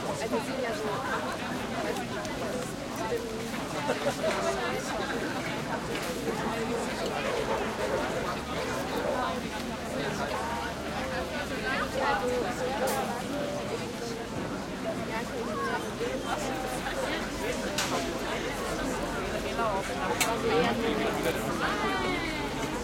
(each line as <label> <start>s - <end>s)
crowd close german and english voices 0.0s - 22.8s